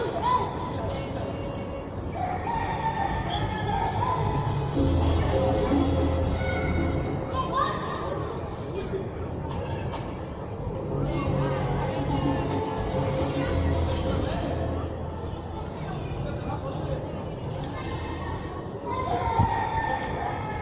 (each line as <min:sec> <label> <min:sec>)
0:00.0 children playing 0:09.9
0:02.6 latin music 0:07.4
0:10.7 children playing 0:14.6
0:10.9 latin music 0:15.4
0:17.2 children playing 0:20.6